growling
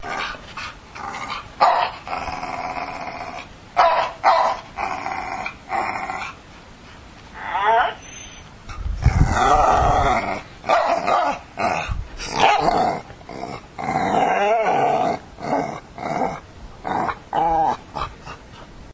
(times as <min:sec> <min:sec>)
0:01.0 0:03.5, 0:04.8 0:06.4, 0:09.0 0:18.1